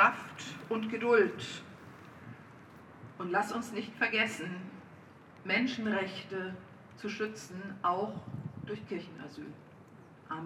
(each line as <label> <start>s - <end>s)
small demonstration in the street 0.0s - 10.4s